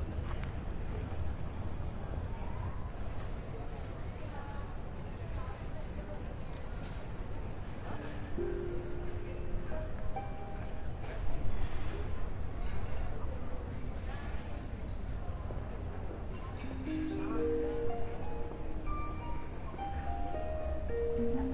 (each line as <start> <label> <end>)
8.1 street musician plays harp 12.6
16.2 street musician plays harp 21.5